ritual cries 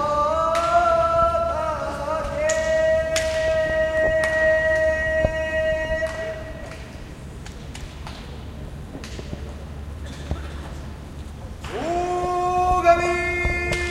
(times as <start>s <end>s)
0.0s 7.0s, 11.6s 13.9s